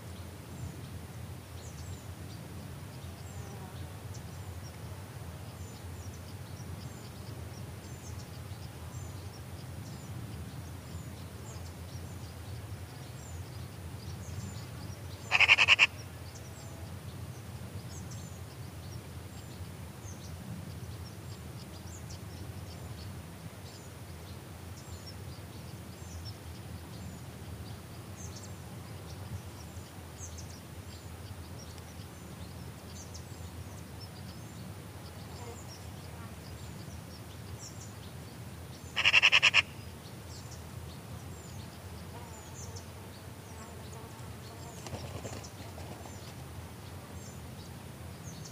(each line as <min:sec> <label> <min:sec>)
0:15.3 Magpie starts calling 0:15.9
0:38.9 bird chirps 0:39.8
0:39.0 Magpie starts calling 0:39.7